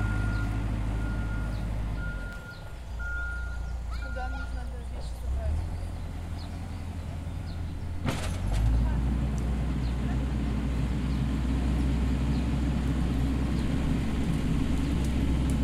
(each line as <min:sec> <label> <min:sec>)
0:00.0 Tractor work 0:15.6